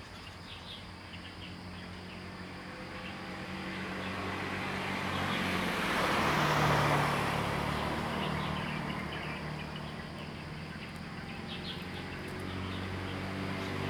Traffic Sound 2.7 - 13.8
Birds singing 7.8 - 13.8

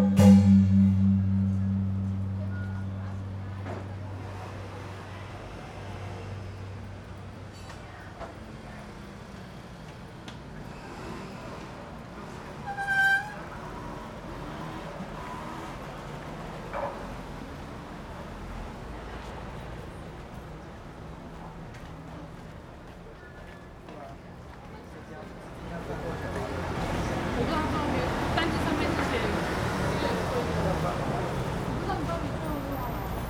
traffic sound 13.4 - 33.2

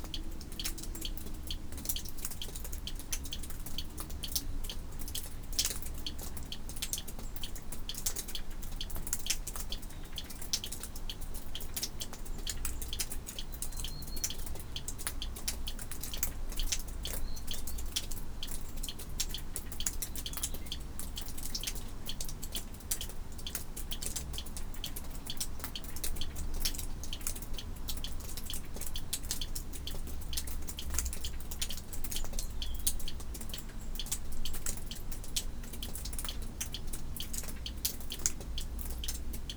water dripping from it's roof 0.0 - 39.5

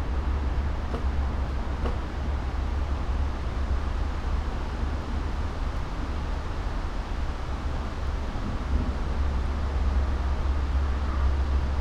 distant traffic hum 0.0 - 3.8
winds 0.0 - 11.8

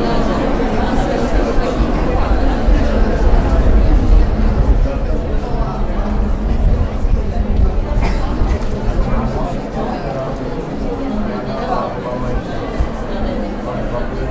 visitors chatting 0.0 - 14.3

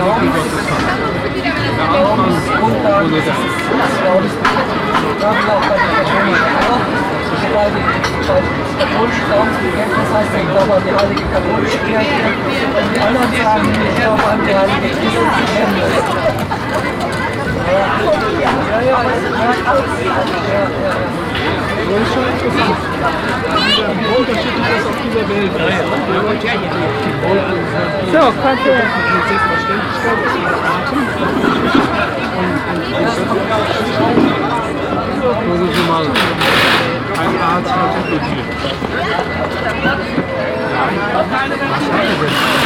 conversation 0.0 - 42.6

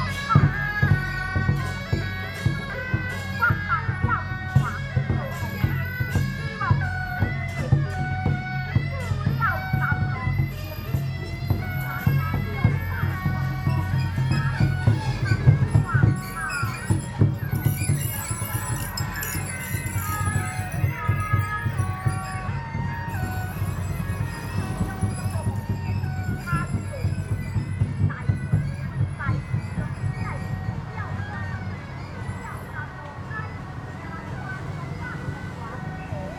Traditional temple festival parade 0.0 - 36.3

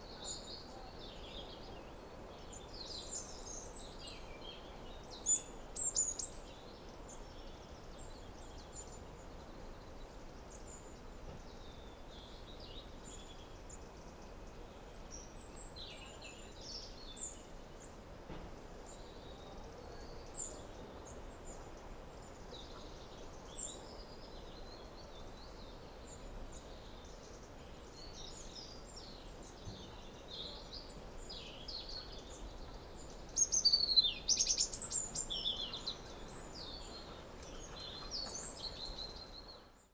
evening birds 0.0 - 39.9

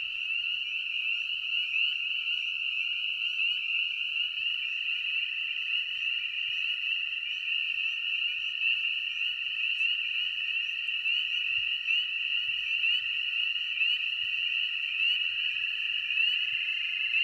Frogs 0.0 - 17.2

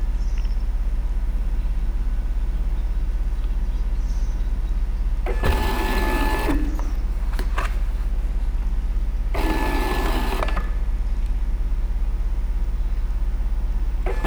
DIY Bookscanner in operation 5.2 - 11.4
DIY Bookscanner in operation 13.8 - 14.2

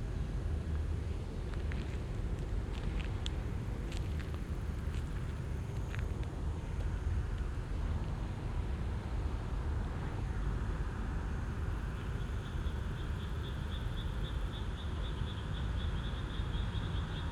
cars on the street 0.0 - 17.3
frogs in rice field 11.6 - 17.3

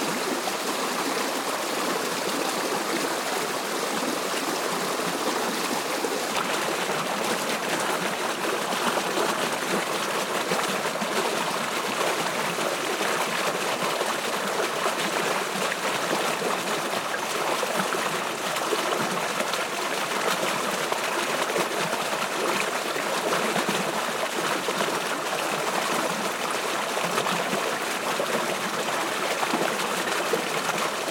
Stream under path 0.0 - 31.1

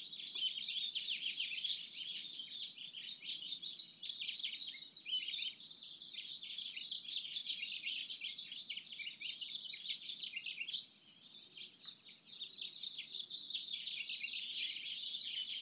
bird activity 0.0 - 15.6

